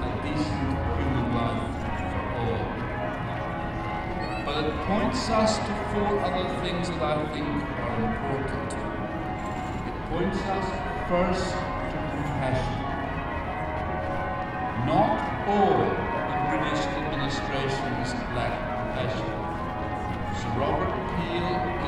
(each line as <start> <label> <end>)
0.0 Irish speech 2.9
0.0 bells 21.8
4.2 Irish speech 8.9
9.9 Irish speech 12.9
14.8 Irish speech 19.4
20.2 Irish speech 21.8